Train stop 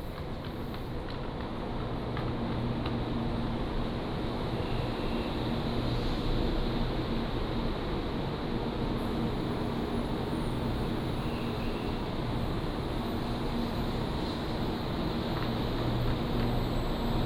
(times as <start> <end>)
3.7 17.2